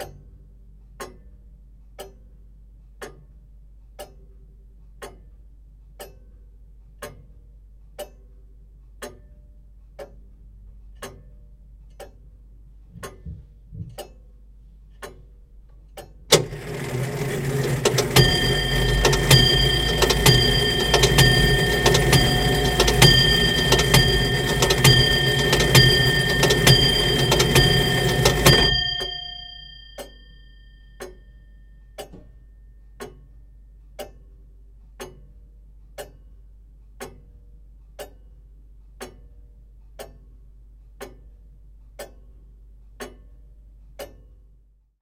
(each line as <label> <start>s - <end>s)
Grandfather clock ticking 16.3s - 30.2s
grandfather clock chimes 16.3s - 31.2s